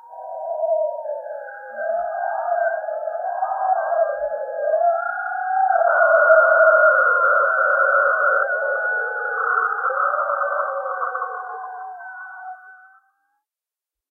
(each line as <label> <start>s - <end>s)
damped-or-not scream 0.0s - 13.2s